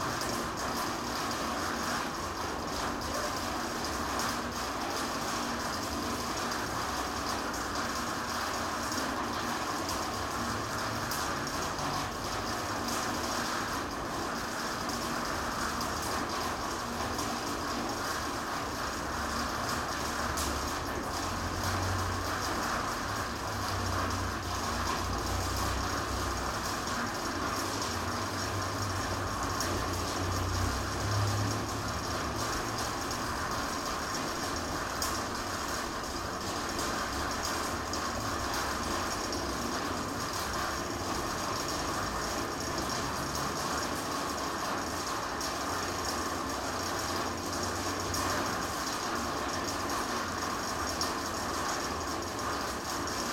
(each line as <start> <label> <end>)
0.0 rain hitting the metalic roof 53.3